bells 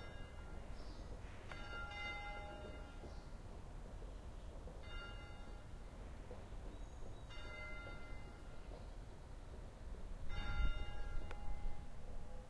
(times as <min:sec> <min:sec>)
0:00.0 0:03.5, 0:04.7 0:06.0, 0:07.2 0:08.8, 0:10.2 0:12.4